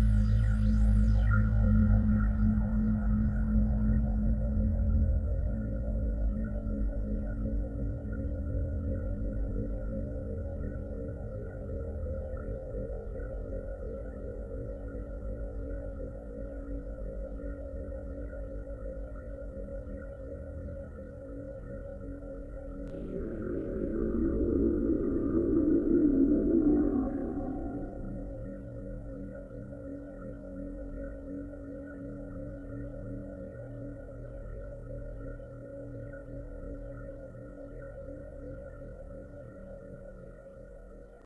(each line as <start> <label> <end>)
19.4 overlayed and depitched white noise 41.2